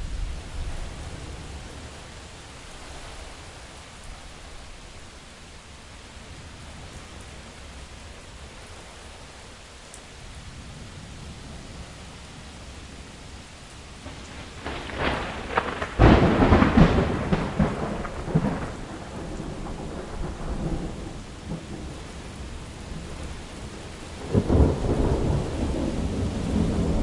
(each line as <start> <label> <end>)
0.0 rain 27.0
14.0 crack of thunder 22.0
24.2 crack of thunder 27.0